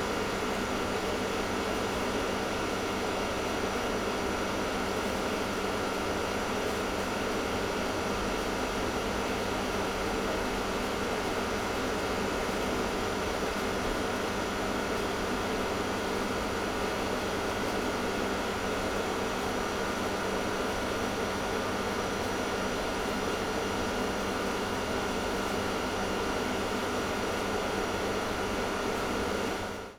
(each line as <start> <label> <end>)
0.0 AC unit whirring in the night 29.9